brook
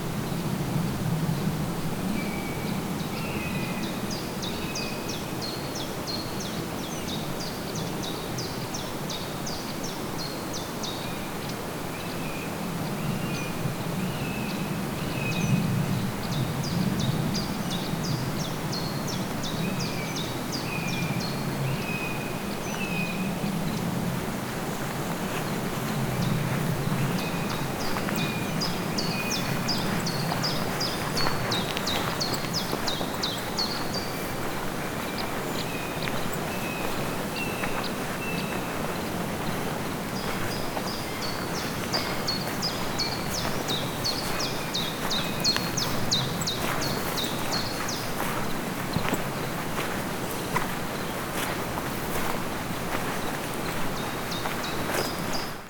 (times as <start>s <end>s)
24.2s 55.6s